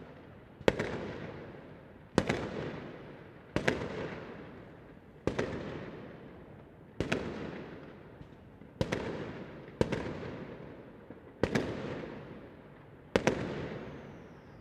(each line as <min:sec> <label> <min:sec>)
0:00.0 fireworks 0:14.6